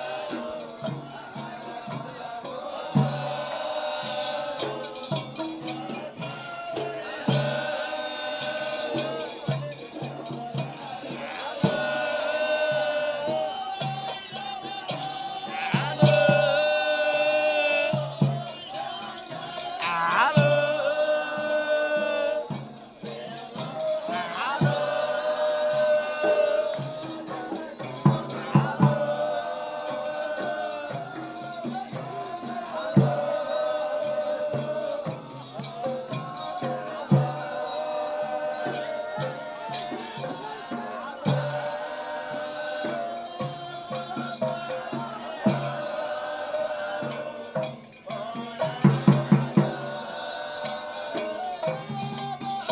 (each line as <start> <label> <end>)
0.0 Dikhr in full swing 52.7